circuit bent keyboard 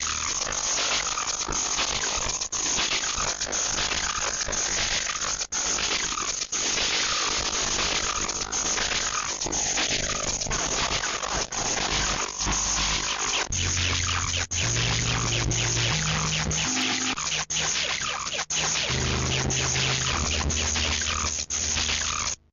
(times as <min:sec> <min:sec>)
0:11.8 0:22.5